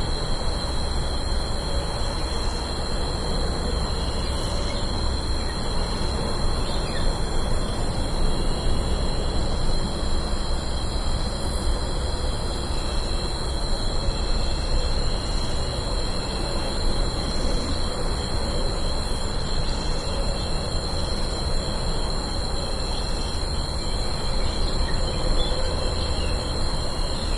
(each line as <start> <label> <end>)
0.0 crickets 27.3